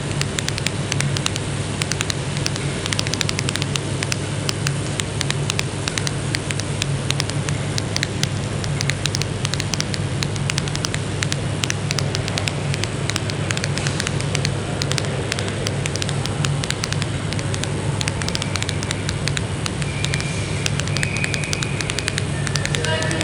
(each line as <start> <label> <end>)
0.0 Interference 23.2